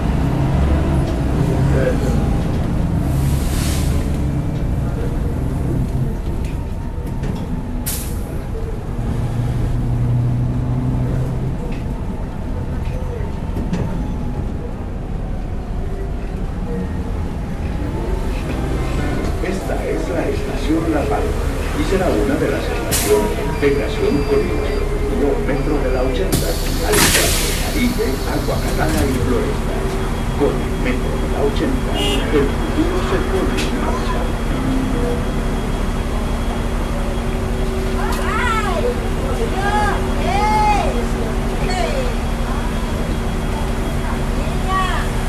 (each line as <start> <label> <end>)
0.0 buses 45.2
17.1 Voces 35.9
17.8 voz del metroplus 37.6